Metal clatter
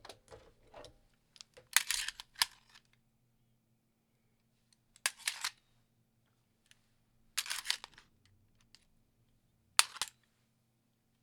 0.0 0.9

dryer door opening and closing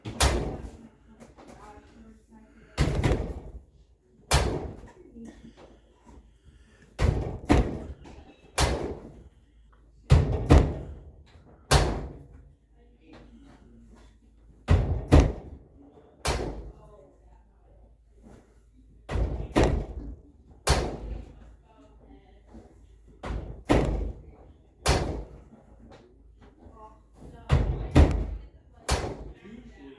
0.0 0.8, 2.8 3.7, 4.3 5.0, 7.0 9.2, 10.1 12.4, 14.6 16.8, 19.1 21.4, 23.2 25.9, 27.2 29.4

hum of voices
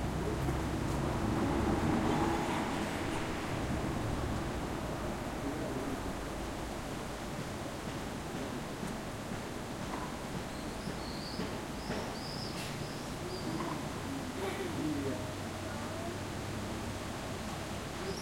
3.6 7.0, 13.1 18.2

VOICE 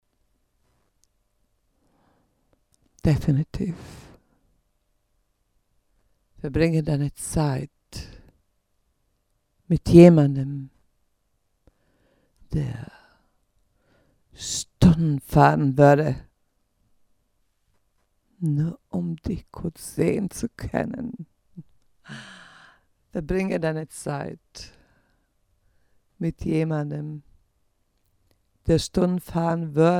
3.0 4.1, 6.4 8.2, 9.7 10.8, 12.5 12.9, 14.4 16.3, 18.4 21.3, 23.2 24.8, 26.2 27.3, 28.7 29.9

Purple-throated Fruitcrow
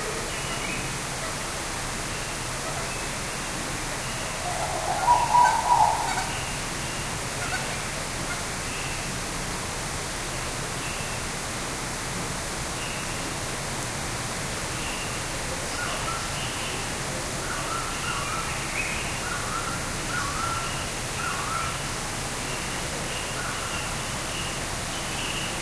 4.0 7.7

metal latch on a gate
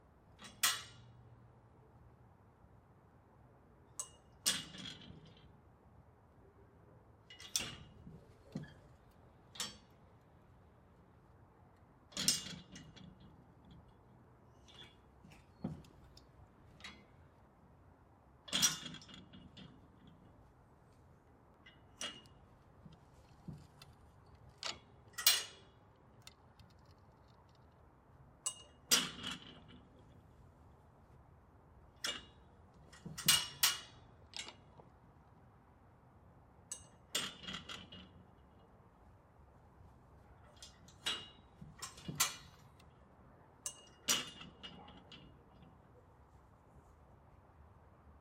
0.4 1.2, 3.9 5.6, 7.3 10.2, 12.0 17.2, 18.4 20.4, 21.6 27.0, 28.4 30.2, 32.0 34.9, 36.7 38.7, 40.4 42.9, 43.6 46.0

